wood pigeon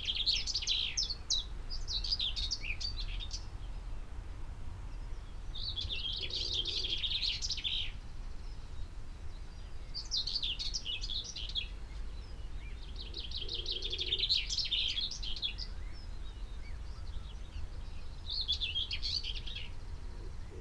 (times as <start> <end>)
20.1 20.6